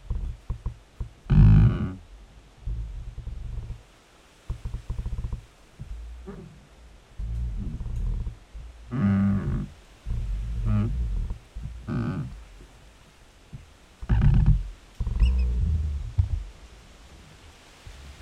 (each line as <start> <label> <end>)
2.7 Two trees rubbing against each other 6.6
7.2 Two trees rubbing against each other 12.8
13.5 Two trees rubbing against each other 16.5